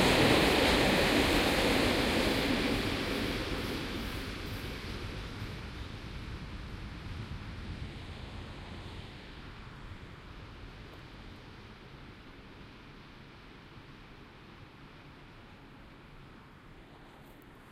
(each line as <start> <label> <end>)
0.0 electric train passing by 17.7